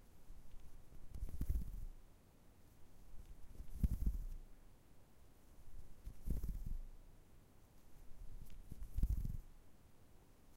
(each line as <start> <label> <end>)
0.3 diverging ruffling/moving/tripping noise 2.0
3.0 diverging ruffling/moving/tripping noise 4.4
5.7 diverging ruffling/moving/tripping noise 6.9
7.8 diverging ruffling/moving/tripping noise 9.5